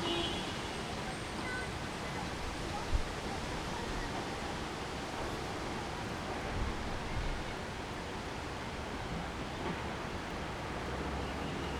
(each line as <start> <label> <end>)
0.0 street with coming rain 11.7